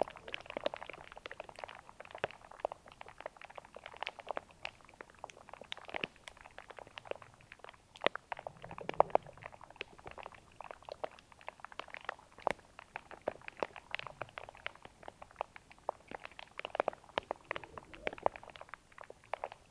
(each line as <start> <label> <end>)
5.4 strange bubbles in cyclic appearance into the green algae 19.7